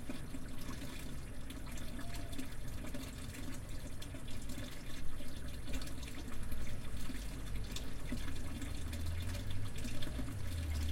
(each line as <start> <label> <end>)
1.7 Smelly well babbles 2.8
2.9 cars going by the nearby road 10.9